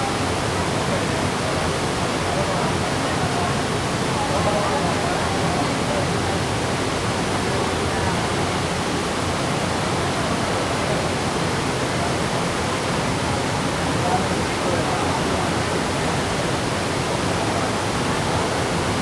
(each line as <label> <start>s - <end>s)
waterfall 0.0s - 19.0s